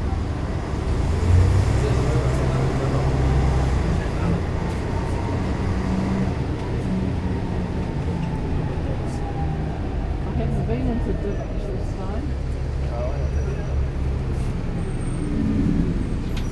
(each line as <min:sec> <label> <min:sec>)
0:00.0 433 bus on George 0:16.5